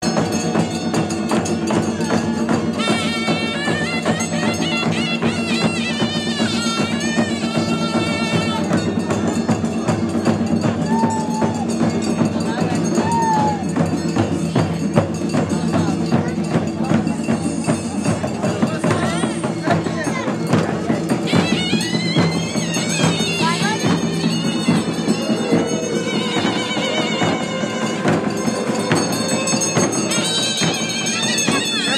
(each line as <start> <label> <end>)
0.0 Enthusiastic crowd 31.9
0.0 bells 31.9
0.0 drums 31.9
2.7 traditional instrument sounds a bit like a clarinet 9.2
21.1 traditional instrument sounds a bit like a clarinet 31.9